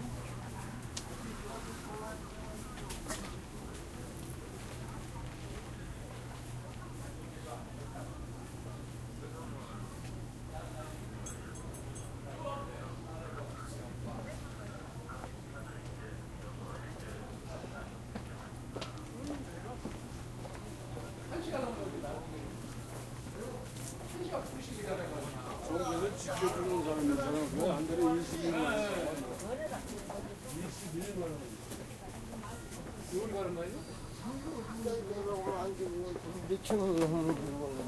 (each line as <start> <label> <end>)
0.5 steps 7.2
21.1 People talking in Korean 37.8